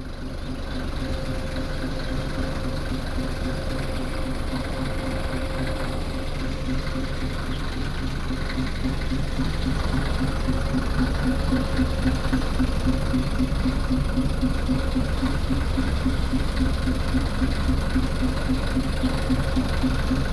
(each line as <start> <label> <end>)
0.0 front of the train 20.3